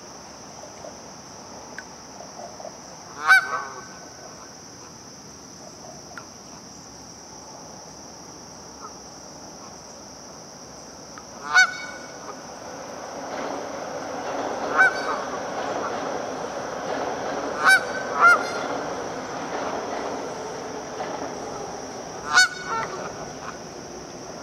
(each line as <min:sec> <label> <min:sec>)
0:00.0 City BG noise 0:24.4
0:00.0 crickets 0:24.4
0:00.0 overhead subway train pass in distance 0:24.4
0:03.1 Canadian geese honking in river 0:04.0
0:11.4 Canadian geese honking in river 0:12.5
0:14.6 Canadian geese honking in river 0:16.0
0:17.5 Canadian geese honking in river 0:18.8
0:22.2 Canadian geese honking in river 0:23.6